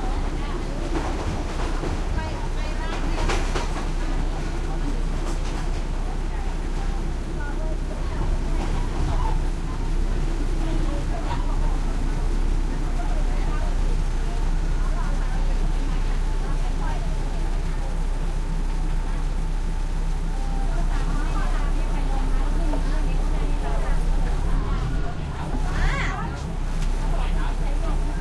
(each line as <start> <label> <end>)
0.0 passenger commuter train 28.2
0.0 thai chatter walla 28.2
17.2 loud engine 28.2
20.7 balanced track movement 28.2